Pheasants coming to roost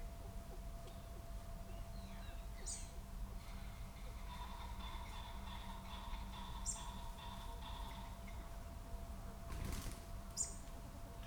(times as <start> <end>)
3.4 8.5